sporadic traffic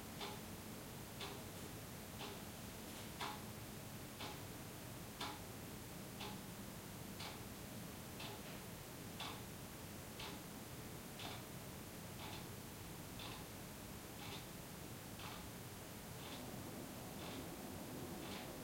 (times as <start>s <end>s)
16.4s 18.6s